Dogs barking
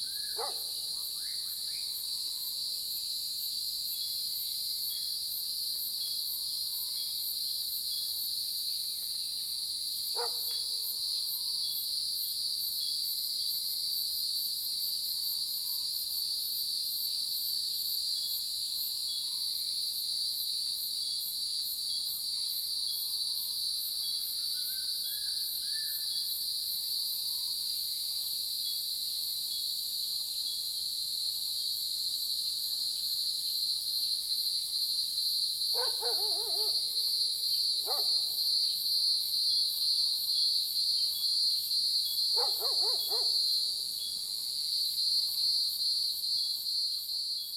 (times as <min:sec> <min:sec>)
0:00.4 0:00.7, 0:35.8 0:36.8, 0:42.4 0:43.4